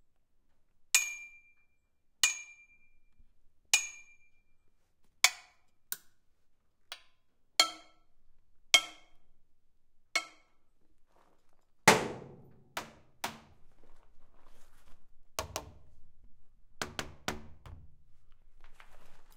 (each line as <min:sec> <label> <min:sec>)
0:10.2 metal hits 0:10.5